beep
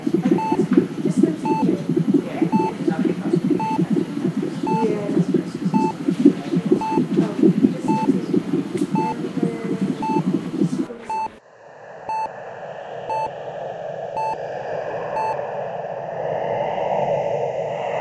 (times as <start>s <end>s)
0.0s 11.4s, 15.2s 15.4s